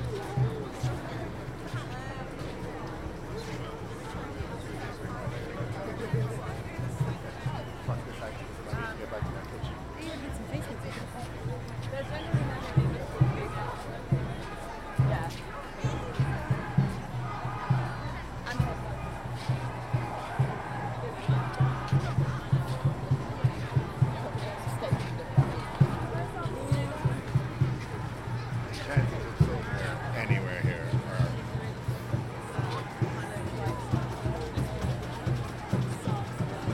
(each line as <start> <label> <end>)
0.0 chants 36.7
0.0 drums 36.7